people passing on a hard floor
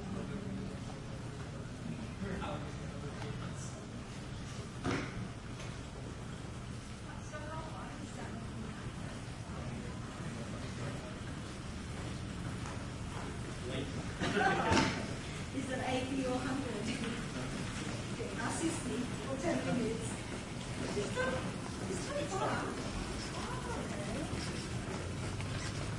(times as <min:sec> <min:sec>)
0:08.6 0:25.9